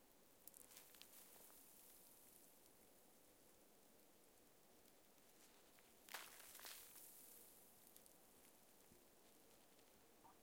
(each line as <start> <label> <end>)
0.5 sprinkling of snow on branches 2.7
5.2 sprinkling of snow on branches 10.0